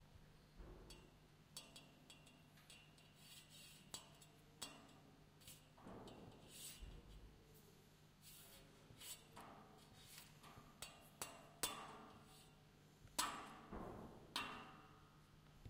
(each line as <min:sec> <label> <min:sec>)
0:02.7 scrape 0:12.6
0:13.2 Hitting metal off another piece of metal 0:15.2